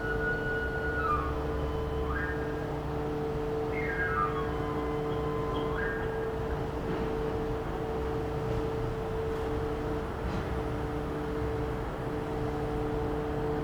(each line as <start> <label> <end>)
0.0 whistle 2.8
3.6 whistle 6.4